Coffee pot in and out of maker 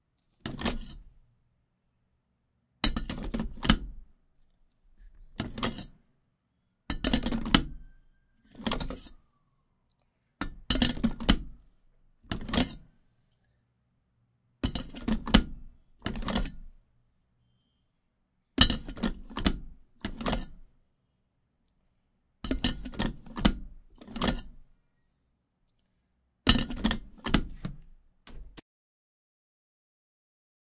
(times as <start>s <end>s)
6.9s 7.9s, 12.3s 12.9s